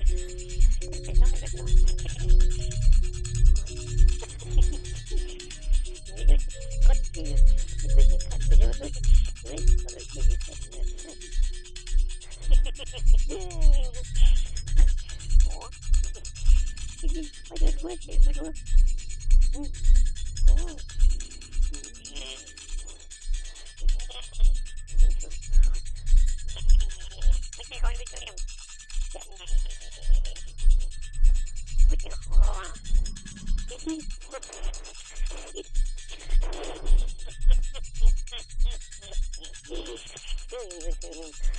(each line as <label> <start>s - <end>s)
plays on a kalimba 0.0s - 25.8s